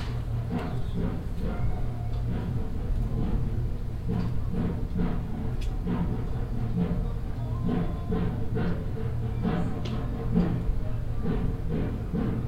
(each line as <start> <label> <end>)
0.0 constant hum of the chairlift motor generator 12.4